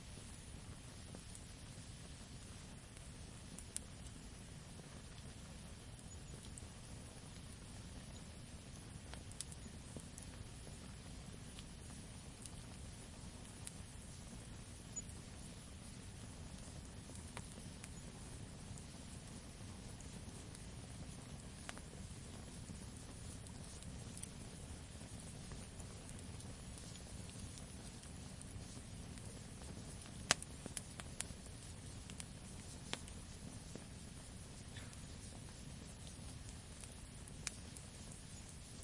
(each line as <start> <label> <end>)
0.0 campfire 38.8